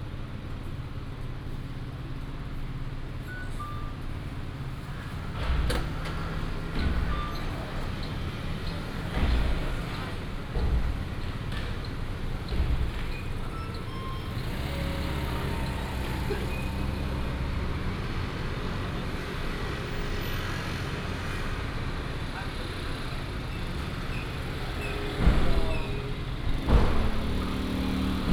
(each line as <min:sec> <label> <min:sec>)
0:00.0 Traffic sound 0:28.3
0:05.4 construction beating sound 0:18.5
0:24.5 construction beating sound 0:28.3